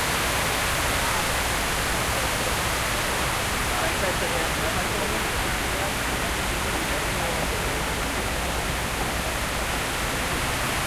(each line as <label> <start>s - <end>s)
water fountain 0.0s - 10.8s